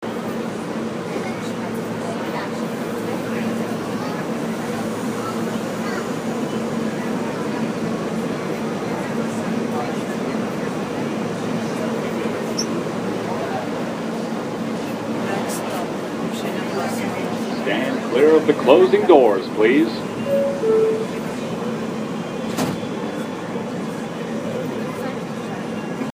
0.0s subway sounds 26.1s

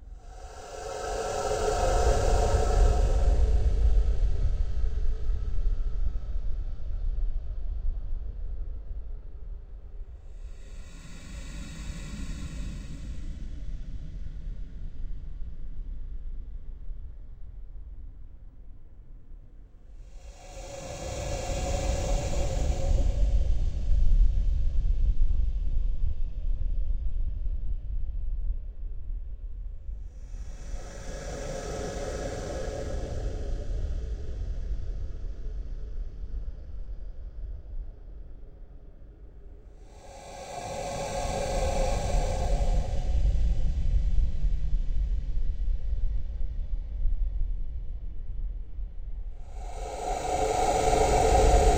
0.0s Cave Drone 5.8s
10.3s Cave Drone 14.9s
20.0s Cave Drone 25.0s
30.0s Cave Drone 38.2s
39.6s Cave Drone 46.0s
49.4s Cave Drone 51.7s

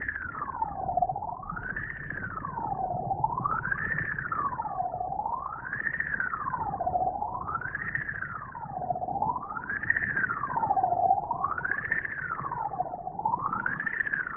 0.0s Underwater Police Siren 14.3s

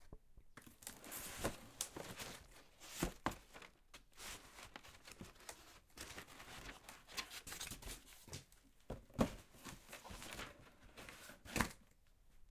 0.7s large cardboard box being opened and closed 3.7s

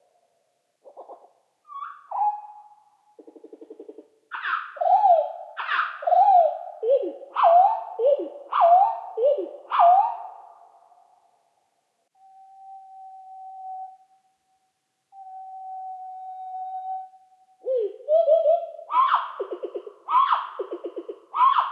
0.8s nightingale 11.1s
15.1s nightingale 21.7s

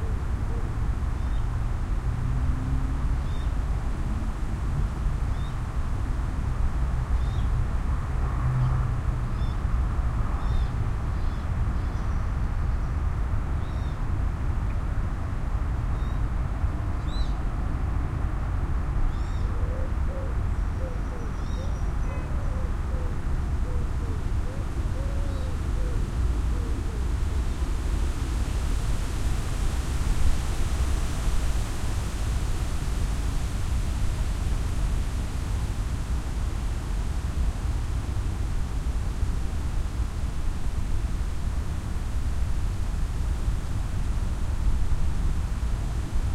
0.0s wind 46.3s

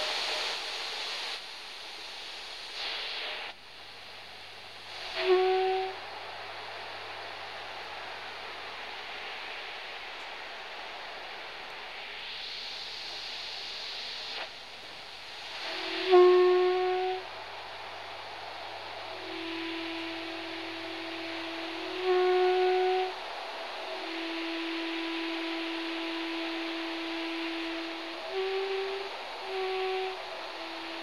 0.0s Shortwave radio static 4.0s
4.6s Shortwave radio static 31.0s

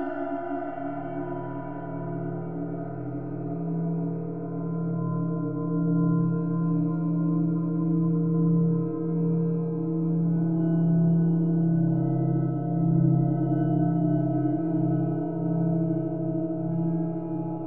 0.0s evolving, resonant drone 17.6s

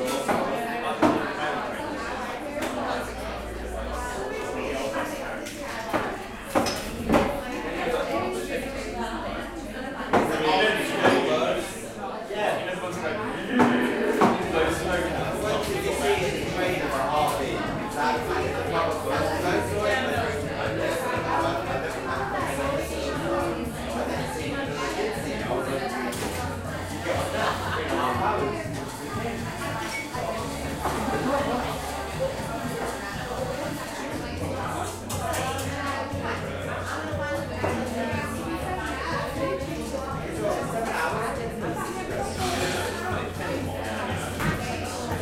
0.0s chatter 45.2s

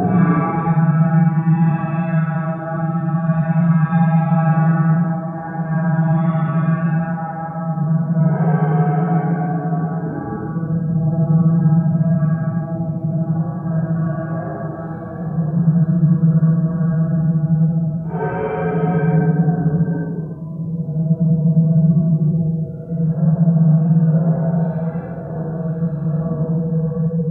0.0s Industrial drones in the middle distance 3.5s

